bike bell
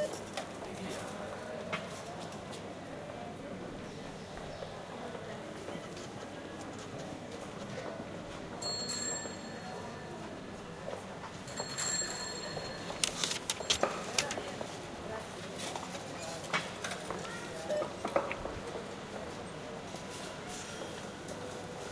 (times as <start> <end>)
8.6 10.1, 11.5 13.0